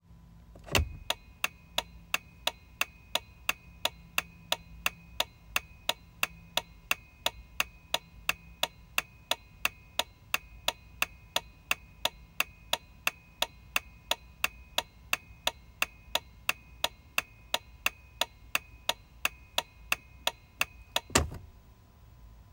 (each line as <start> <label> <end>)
0.6 Turn signal/blinker on a Jeep Wrangler Sahara 21.6